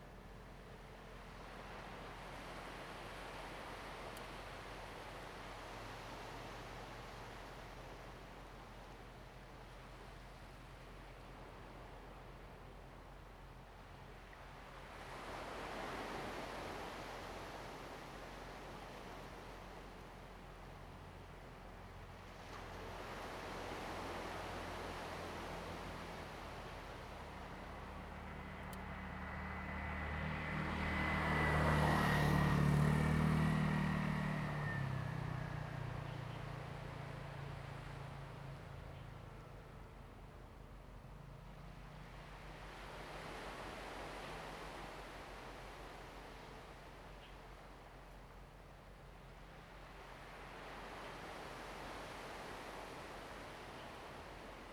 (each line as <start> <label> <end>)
0.0 waves 54.7
24.8 Traffic Sound 44.7